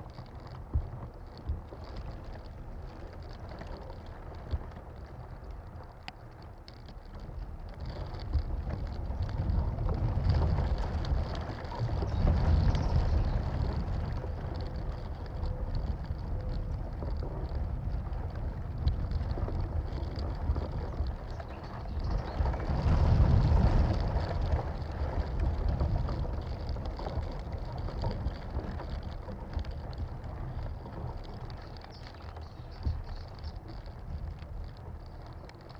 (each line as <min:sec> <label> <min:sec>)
0:00.0 Palm tree fibres inn wind 0:35.7
0:12.0 close bird song 0:13.8
0:20.8 close bird song 0:22.7
0:31.6 close bird song 0:33.7